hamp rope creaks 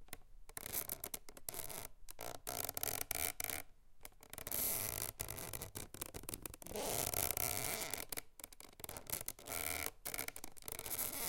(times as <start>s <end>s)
8.8s 11.2s